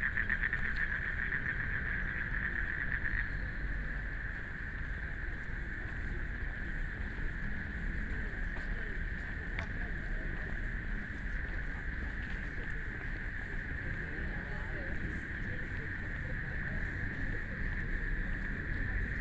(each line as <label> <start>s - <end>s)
Frogs sound 0.0s - 5.3s